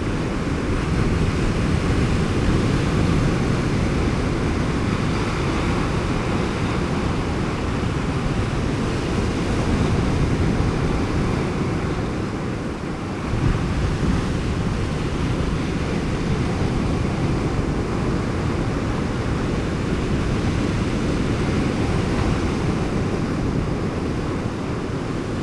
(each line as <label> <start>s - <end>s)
roaring sea 0.0s - 25.4s